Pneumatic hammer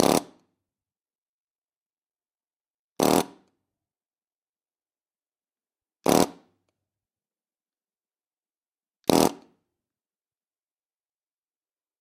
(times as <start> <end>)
0.0 0.5, 3.0 3.5, 6.0 6.5, 9.0 9.6